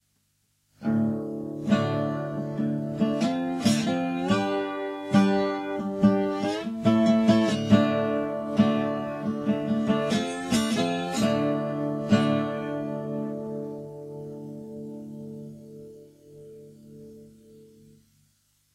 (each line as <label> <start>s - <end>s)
Slide guitar 0.9s - 17.7s